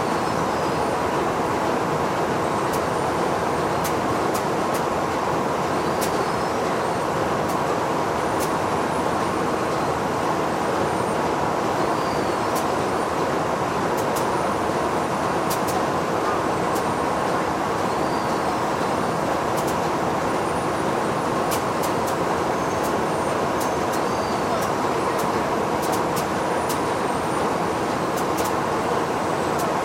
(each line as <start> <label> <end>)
0.0 Factory machine 29.8